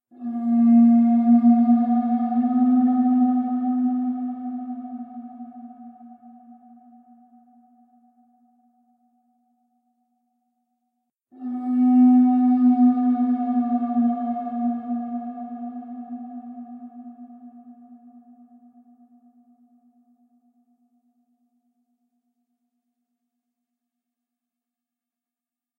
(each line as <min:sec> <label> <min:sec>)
0:00.1 conch shell 0:09.0
0:11.3 conch shell 0:20.5